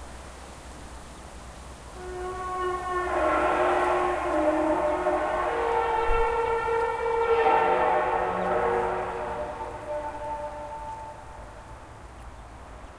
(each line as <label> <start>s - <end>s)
distant traffic 0.0s - 12.9s
wind 0.0s - 12.9s